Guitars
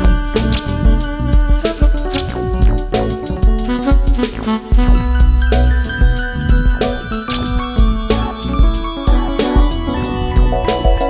0:05.4 0:11.0

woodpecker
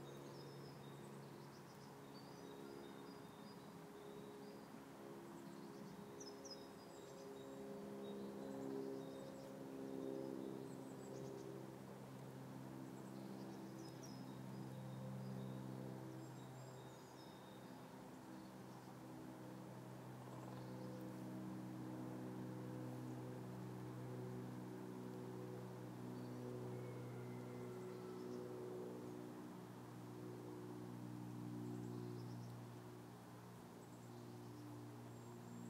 0:20.2 0:21.2

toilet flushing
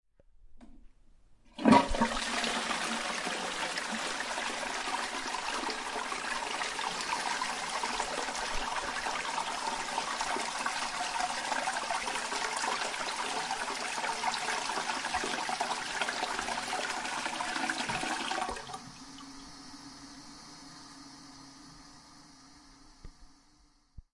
0:01.5 0:19.6

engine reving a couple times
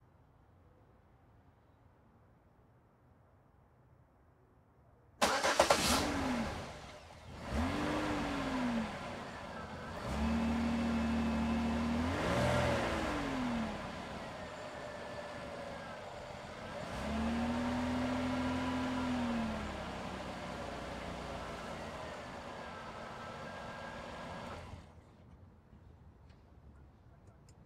0:05.2 0:24.9

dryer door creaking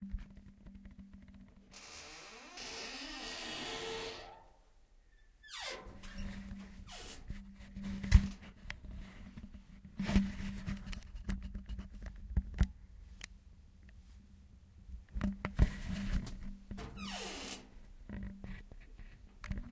0:01.8 0:04.5, 0:05.4 0:07.3, 0:16.8 0:17.8

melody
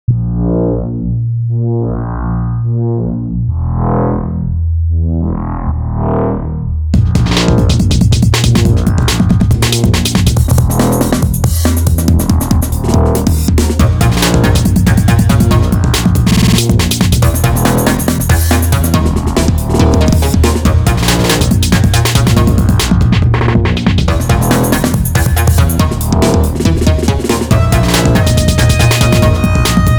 0:24.1 0:29.9

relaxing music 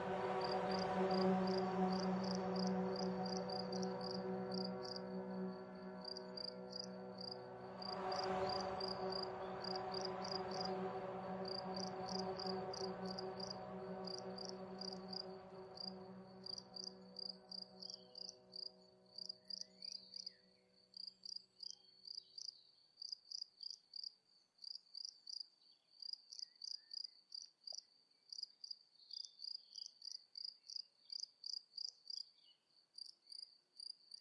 0:00.0 0:20.7

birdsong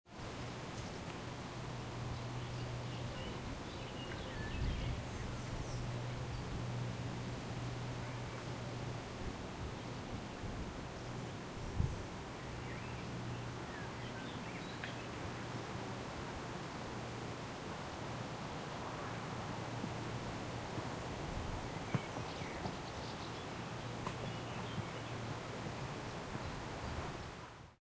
0:01.8 0:09.0, 0:09.7 0:15.4, 0:21.6 0:25.3, 0:26.0 0:27.1

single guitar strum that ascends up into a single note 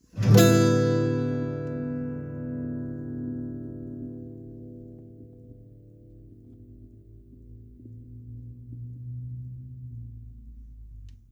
0:00.2 0:05.8

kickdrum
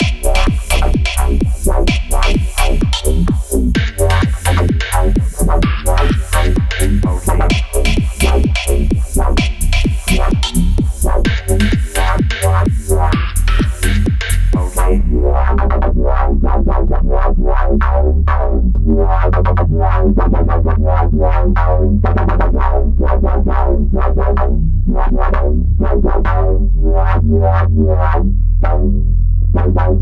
0:00.0 0:15.0

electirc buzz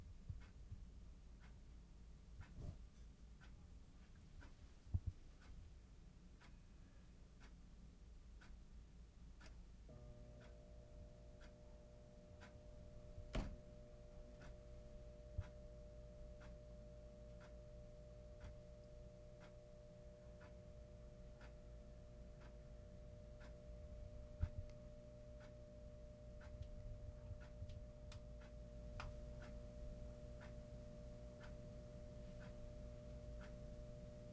0:09.9 0:34.3

